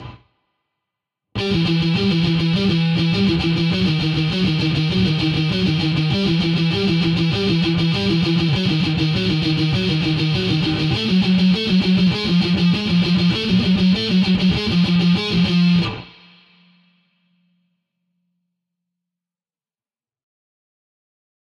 0.0s guitar 0.3s
1.4s guitar 17.6s

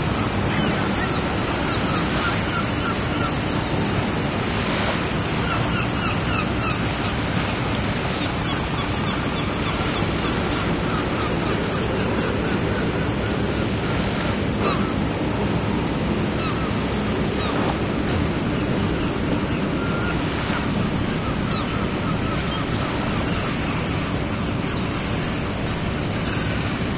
0.0s sea 26.9s
0.1s seagulls 4.3s
5.3s seagulls 7.6s
8.2s seagulls 14.0s
14.6s seagulls 15.0s
16.2s seagulls 17.8s
18.4s seagulls 25.0s

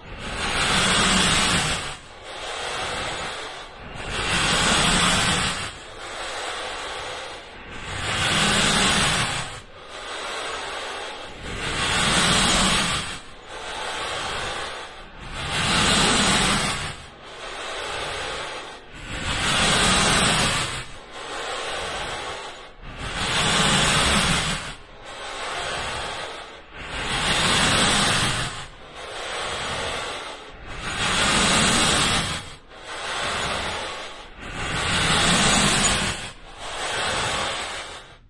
0.0s breathing through a mask 38.2s

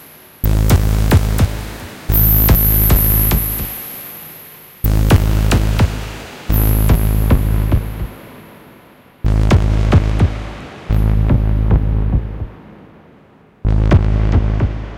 0.4s Pulsing rumbling drone sound 3.8s
4.9s Pulsing rumbling drone sound 8.2s
9.3s Pulsing rumbling drone sound 12.6s

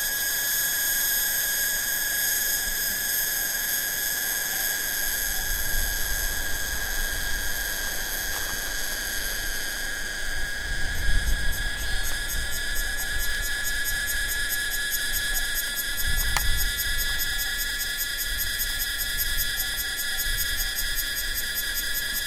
0.0s Crickets 22.2s
0.0s cicada 22.2s

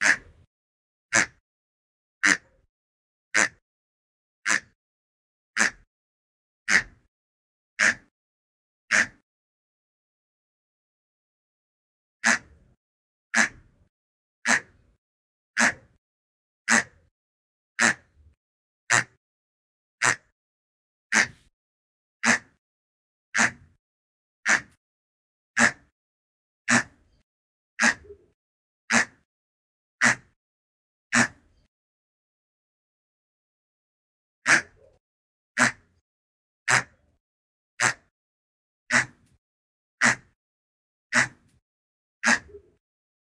0.0s toy pig 0.5s
1.1s toy pig 1.4s
2.2s toy pig 2.6s
3.4s toy pig 3.6s
4.4s toy pig 4.8s
5.6s toy pig 5.9s
6.7s toy pig 7.1s
7.8s toy pig 8.1s
8.9s toy pig 9.2s
12.2s toy pig 12.6s
13.3s toy pig 13.7s
14.4s toy pig 14.9s
15.6s toy pig 16.0s
16.7s toy pig 17.1s
17.8s toy pig 18.2s
18.9s toy pig 19.2s
20.0s toy pig 20.3s
21.1s toy pig 21.5s
22.2s toy pig 22.6s
23.3s toy pig 23.8s
24.4s toy pig 24.8s
25.6s toy pig 25.9s
26.7s toy pig 27.1s
27.8s toy pig 28.3s
28.9s toy pig 29.3s
30.0s toy pig 30.4s
31.1s toy pig 31.5s
34.4s toy pig 35.0s
35.6s toy pig 36.0s
36.7s toy pig 37.2s
37.8s toy pig 38.1s
38.9s toy pig 39.4s
40.0s toy pig 40.4s
41.1s toy pig 41.6s
42.2s toy pig 42.8s

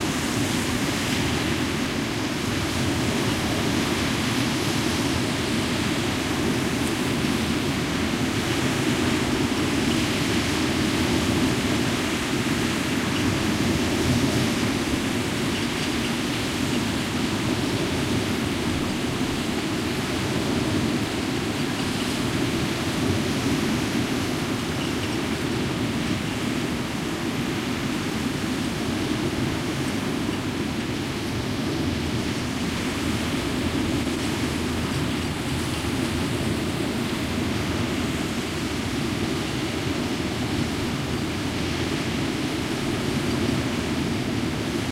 0.0s Ocean wind 44.9s
0.0s waves 44.9s

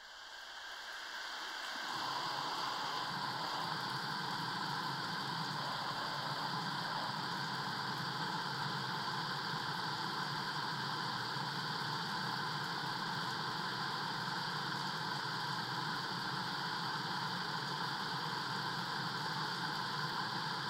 0.2s water flowing from a pipe 20.6s

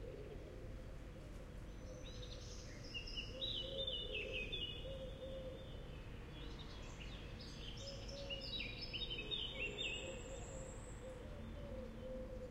1.7s blackbird 12.5s

